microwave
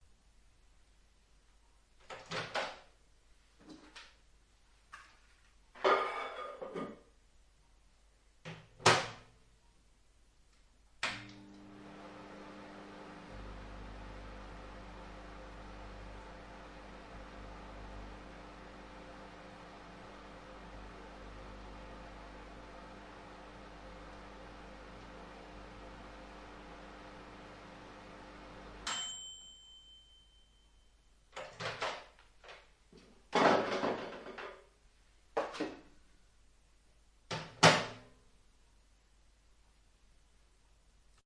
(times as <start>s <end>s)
11.0s 30.6s, 31.4s 32.6s, 37.3s 38.1s